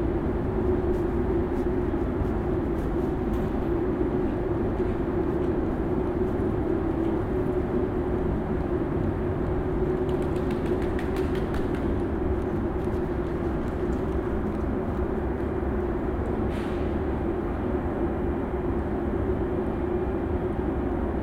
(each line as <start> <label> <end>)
0.6 people walking 7.6
8.6 people walking 15.7
9.2 pigeon flying in the middle 15.6